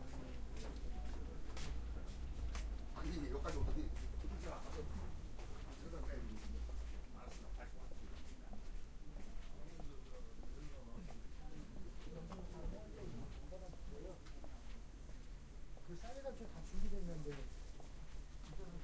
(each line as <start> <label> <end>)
0.0 People talking 14.4
15.9 People talking 17.5